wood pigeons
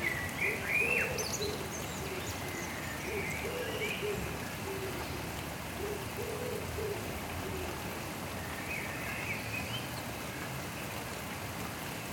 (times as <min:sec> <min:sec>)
0:03.0 0:08.0